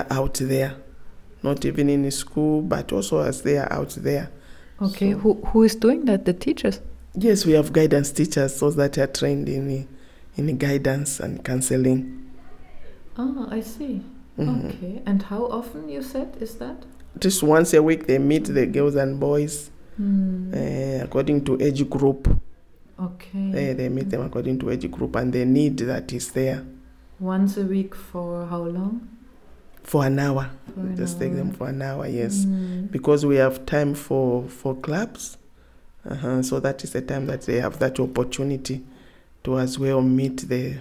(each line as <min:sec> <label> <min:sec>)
0:30.8 Senior Teacher tells us 0:32.9